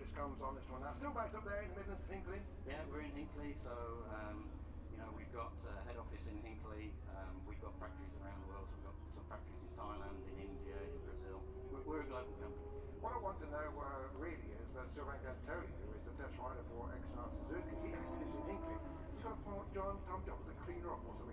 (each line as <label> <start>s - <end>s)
commentary 0.0s - 21.3s
motor cycle grand prix 0.0s - 21.3s